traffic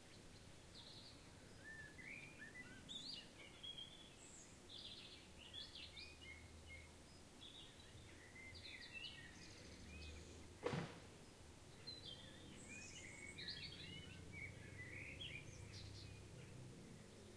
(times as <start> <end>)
13.3 17.3